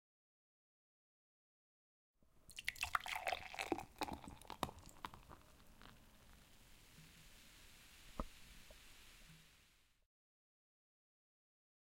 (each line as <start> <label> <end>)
2.5 Pouring beer into the glass 7.7